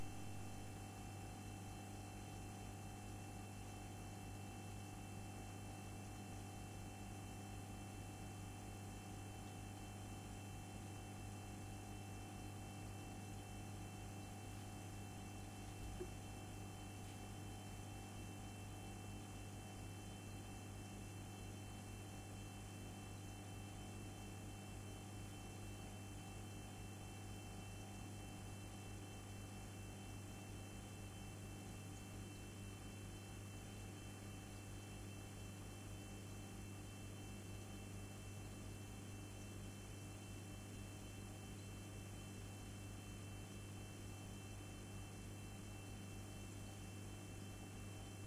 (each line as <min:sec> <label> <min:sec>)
0:00.0 fridge tone 0:00.8
0:14.1 fridge tone 0:17.0